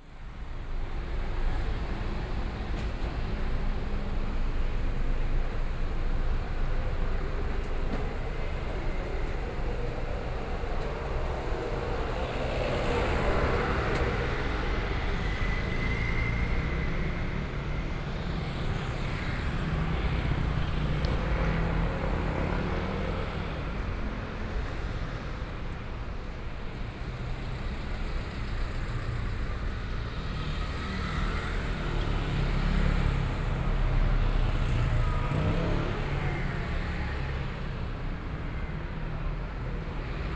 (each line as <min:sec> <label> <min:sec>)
0:00.0 Traffic Sound 0:40.3
0:00.0 Walking in the street 0:40.3